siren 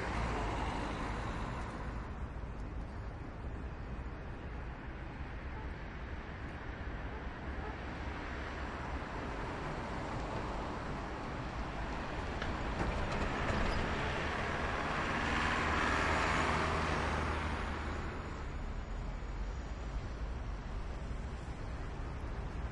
16.3 20.6

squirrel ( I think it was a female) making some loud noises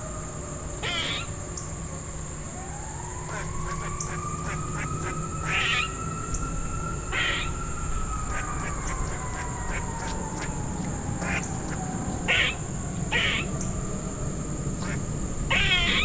0.8 1.4, 3.2 13.7, 14.7 16.0

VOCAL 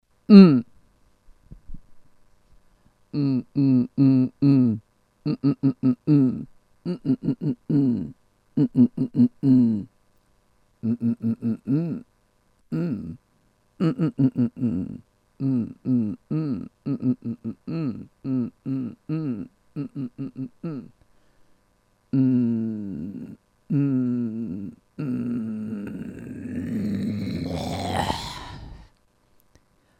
0.3 0.7, 3.1 9.9, 10.8 12.1, 12.7 13.2, 13.8 21.1, 22.1 29.7

